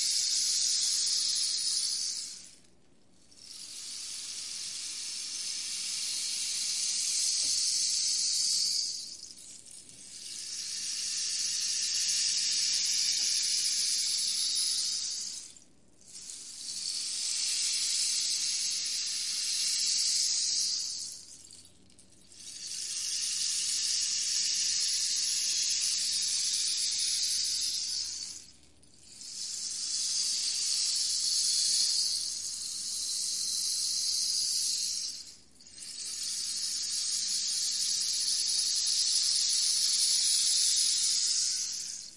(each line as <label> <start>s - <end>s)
rainstick 0.0s - 2.6s
rainstick 3.3s - 42.1s